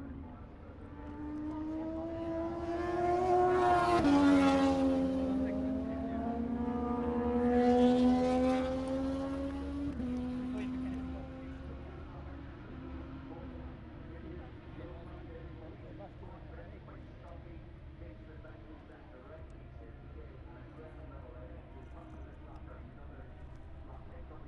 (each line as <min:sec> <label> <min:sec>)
0:00.0 motorcycle grand prix 0:24.4